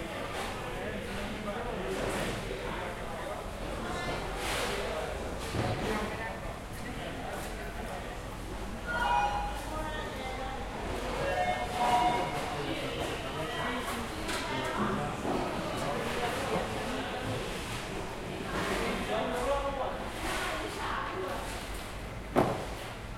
0.0s fishermen talking and working 23.1s
10.2s water 23.1s

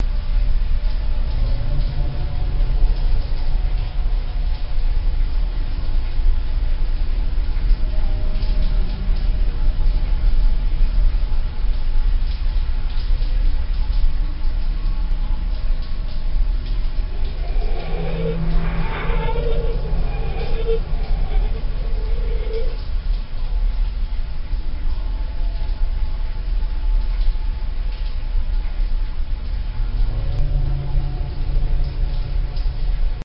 0.0s Drone 5.7s
16.7s Drone 23.5s
29.8s Drone 33.2s

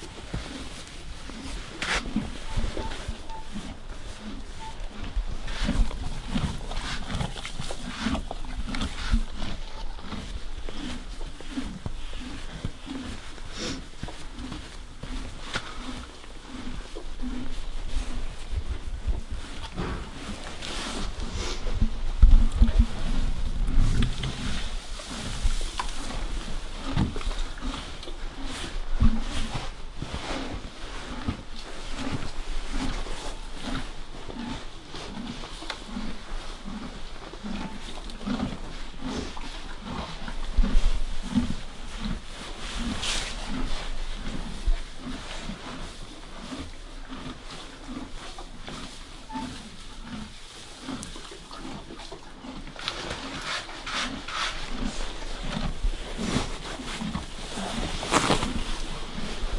0.0s Horse being brushed from close 59.5s
0.1s chewing 18.5s
19.2s chewing 31.4s
32.0s chewing 59.5s

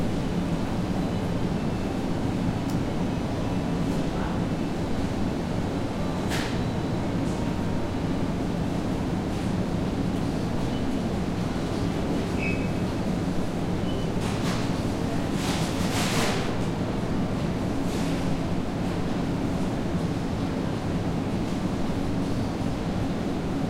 13.8s freezers 18.3s

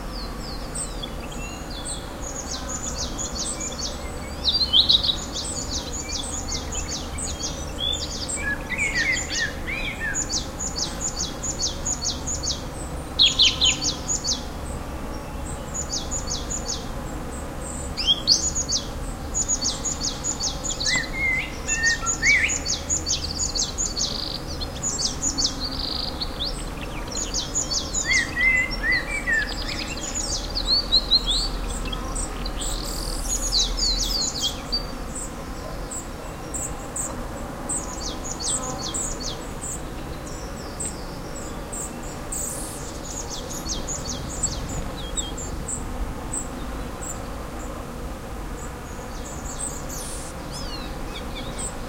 0.0s birds 51.8s
0.1s buzzing bees 51.8s

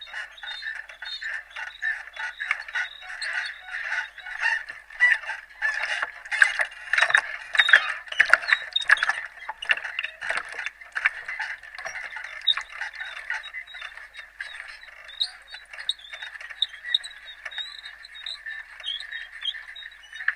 0.0s power line hum 17.9s
0.0s squeaks 20.3s

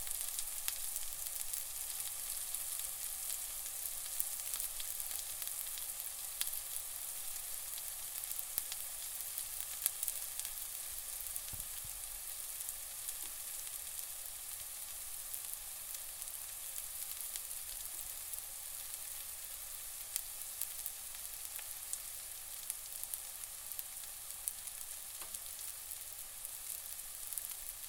0.0s Onions frying in a pan 27.8s

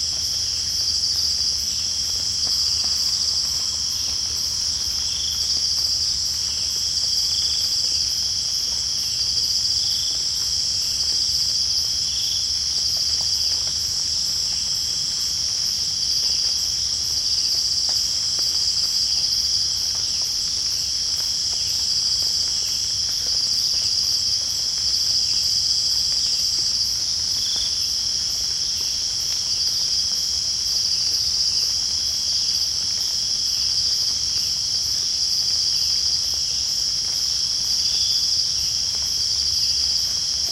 0.0s Cicades 40.5s
0.0s rain 40.5s

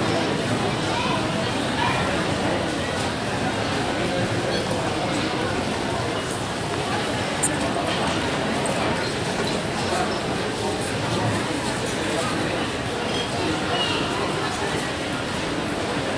0.0s children 2.4s

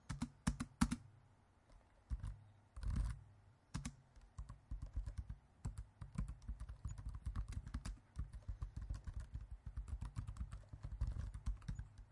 0.0s Typing Laptop Keyboard 1.1s
2.1s Typing Laptop Keyboard 12.1s

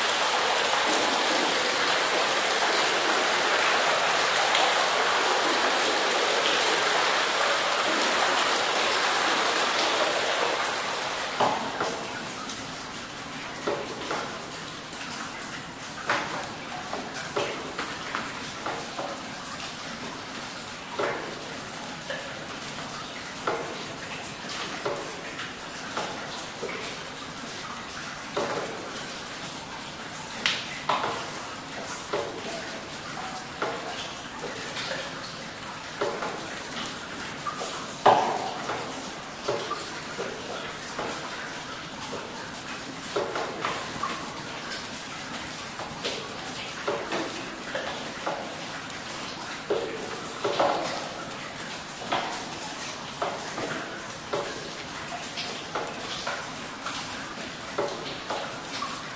0.0s water 59.1s

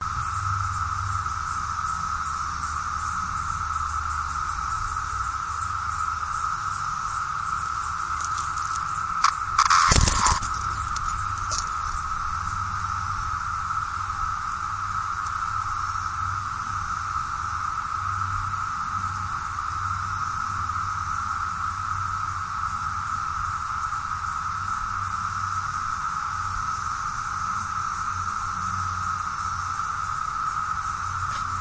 5.9s cicada landing on recorder 16.1s
29.1s cicada landing on recorder 31.6s

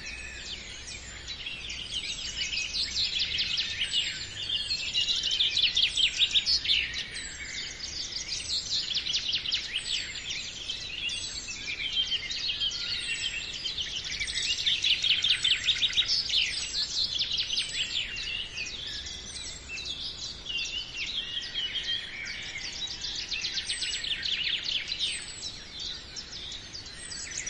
0.0s birds singing lively 27.4s

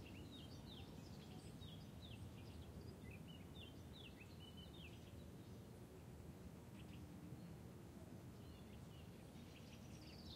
4.8s boats on the lake far below 10.3s
8.3s birds 10.3s

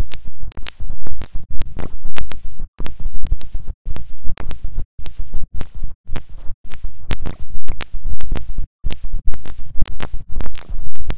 0.0s clicks 11.1s

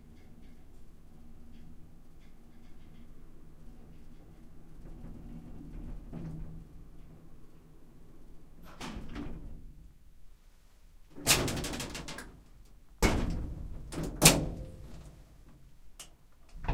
11.2s shaky elevator 15.5s
13.0s closing doors 15.1s
16.5s closing doors 16.7s
16.5s shaky elevator 16.7s

